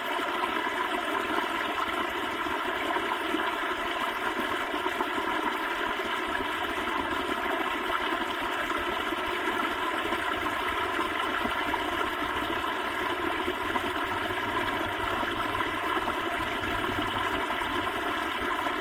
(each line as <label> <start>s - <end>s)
Water splashing along at a small waterfall 0.0s - 18.8s